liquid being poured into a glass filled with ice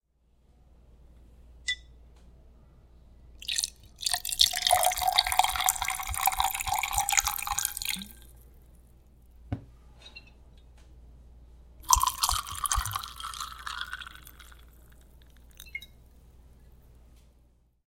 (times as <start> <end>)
3.4 8.3, 11.8 15.9